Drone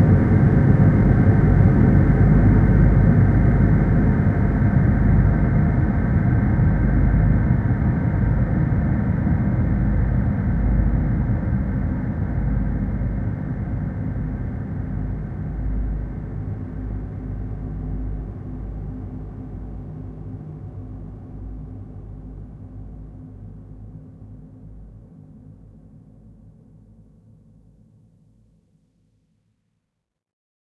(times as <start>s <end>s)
0.0s 20.9s